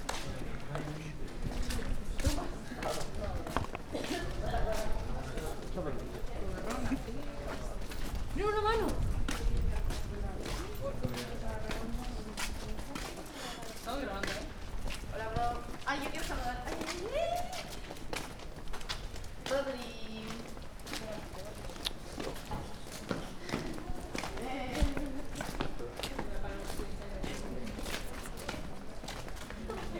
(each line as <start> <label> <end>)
0.0 Humans Steps Complex 29.9